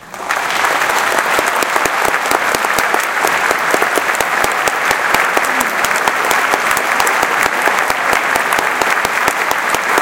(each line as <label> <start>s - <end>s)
Applause 0.0s - 10.0s
cheering 0.0s - 10.0s